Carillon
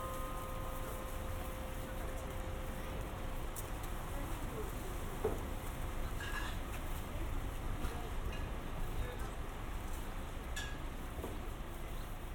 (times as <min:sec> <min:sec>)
0:00.0 0:03.6